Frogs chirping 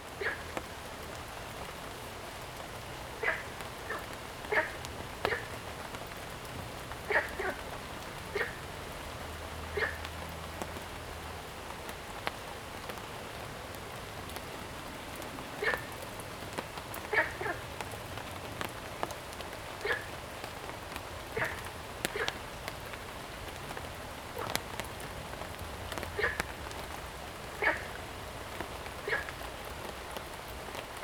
3.2s 5.6s, 7.1s 7.7s, 8.3s 8.7s, 21.3s 22.4s, 26.2s 26.5s, 27.6s 28.0s, 29.0s 29.5s

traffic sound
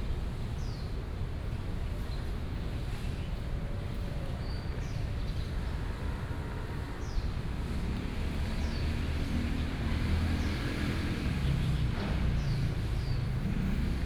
5.9s 14.0s

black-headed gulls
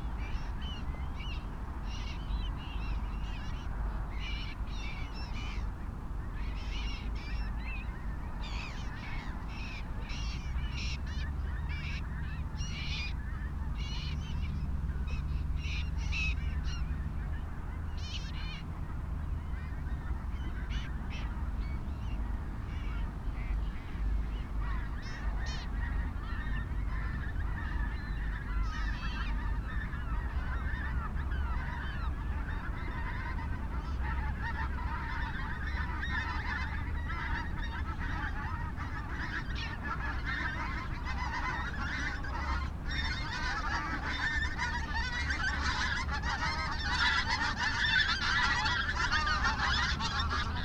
24.6s 50.6s

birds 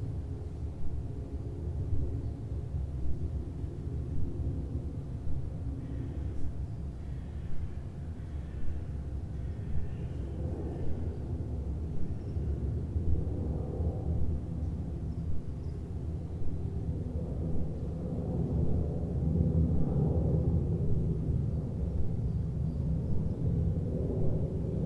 5.7s 12.8s

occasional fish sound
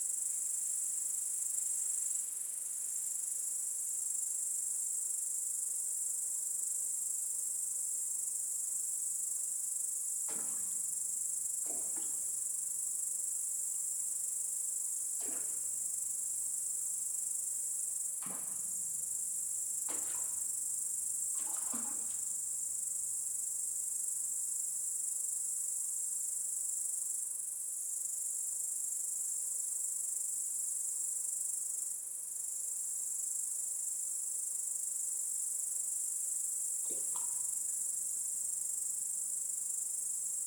19.8s 22.6s, 36.9s 37.8s

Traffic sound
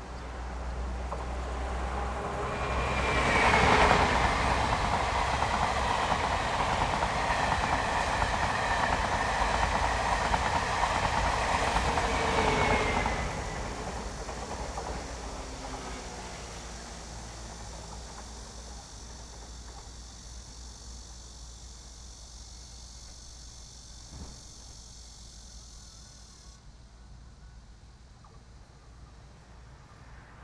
0.0s 20.0s, 27.7s 30.4s

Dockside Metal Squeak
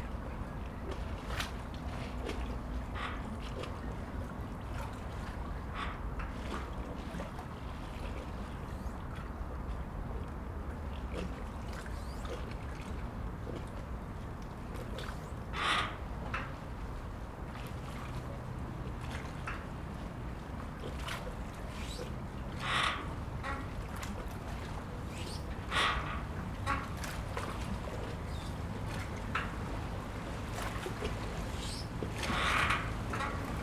15.0s 16.5s, 21.6s 24.4s, 25.0s 27.5s, 28.1s 28.6s, 31.4s 33.6s

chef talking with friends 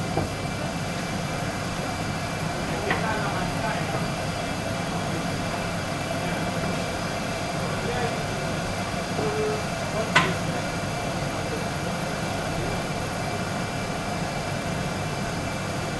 2.1s 13.4s

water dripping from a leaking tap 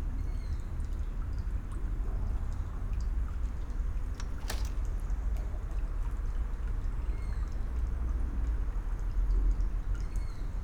6.0s 10.6s

